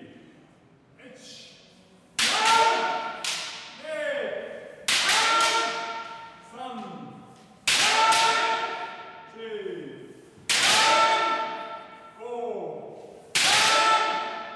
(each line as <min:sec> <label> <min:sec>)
0:02.2 Kendo practice 0:03.8
0:04.9 Kendo practice 0:06.4
0:07.7 Kendo practice 0:09.3
0:10.5 Kendo practice 0:12.1
0:13.3 Kendo practice 0:14.5